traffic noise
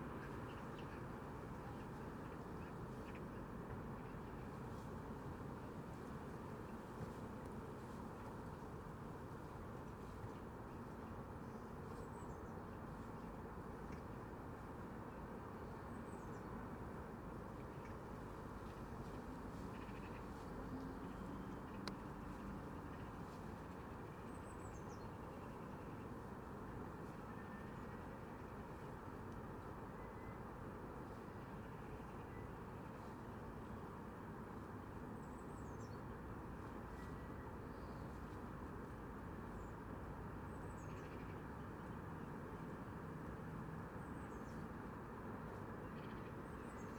18.1s 24.2s

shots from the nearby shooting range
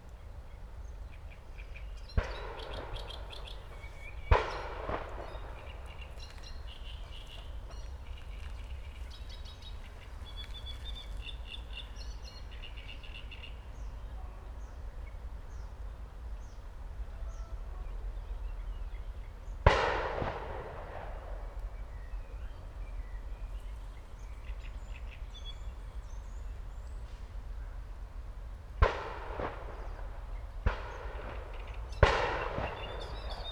2.1s 11.8s, 19.6s 22.1s, 28.8s 33.5s

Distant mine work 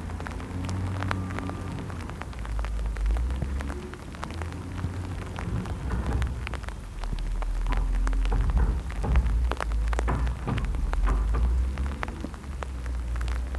3.2s 13.5s

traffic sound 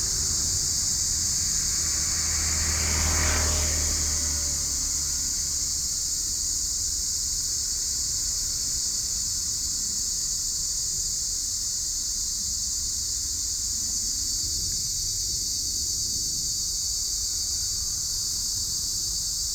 0.0s 8.3s

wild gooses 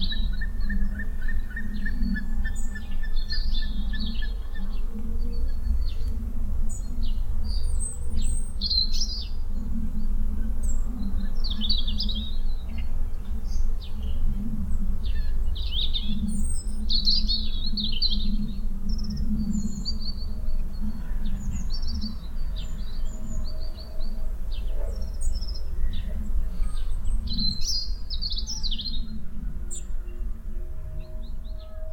7.5s 31.9s

